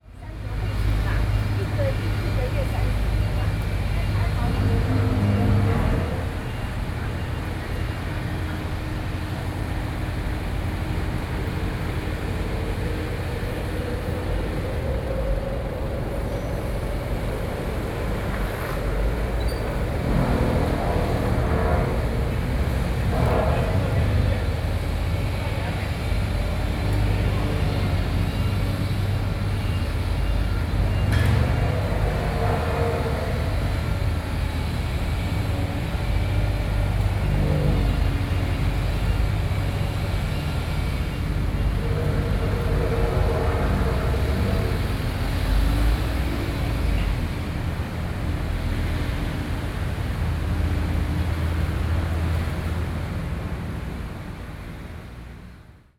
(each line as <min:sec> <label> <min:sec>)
0:00.0 Construction noise 0:55.6